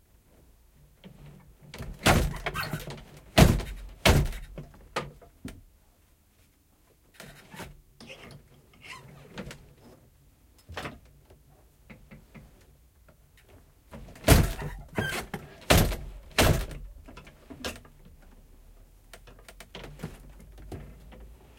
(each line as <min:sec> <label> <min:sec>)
0:11.5 Old wooden loom from 1857, weaving a rag rug 0:21.5